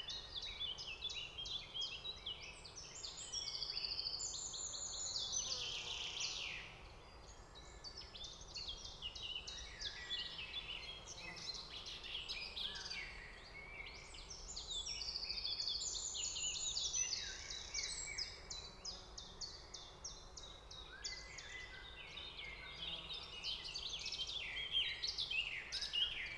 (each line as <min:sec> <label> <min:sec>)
0:00.0 Song Thrush 0:26.3
0:00.1 flies 0:26.3